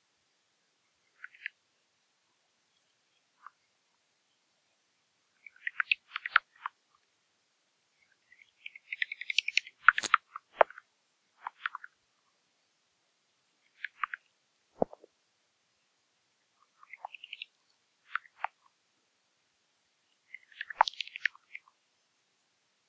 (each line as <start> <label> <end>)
8.3 Bats 10.8